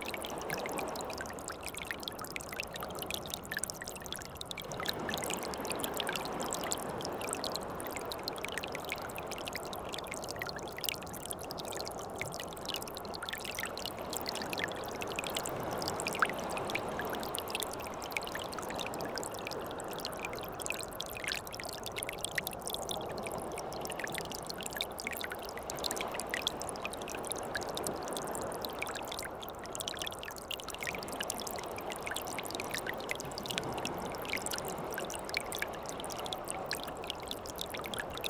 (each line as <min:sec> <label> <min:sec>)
0:00.0 small streams, going to the sea 0:38.2